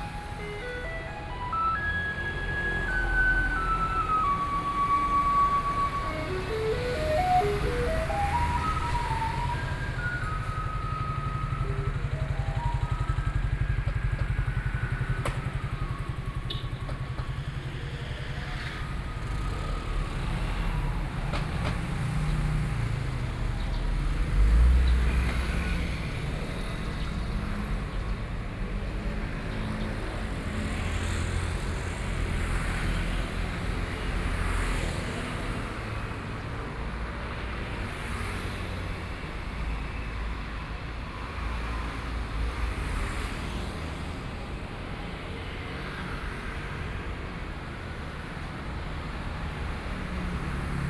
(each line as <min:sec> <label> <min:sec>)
0:00.0 Garbage truck music 0:14.2
0:00.0 Walking on the road 0:14.5
0:00.0 Traffic Sound 0:50.8